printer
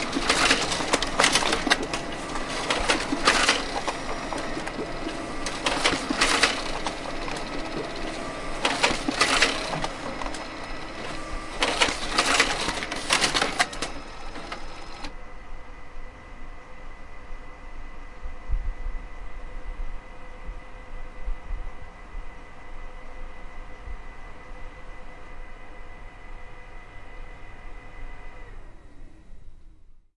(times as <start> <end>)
0.0 15.2, 22.7 29.8